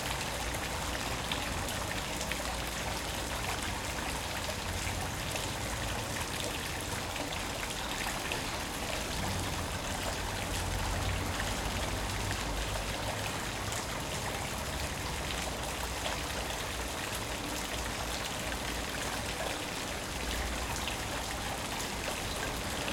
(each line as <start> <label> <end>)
0.0 Artesian well 22.9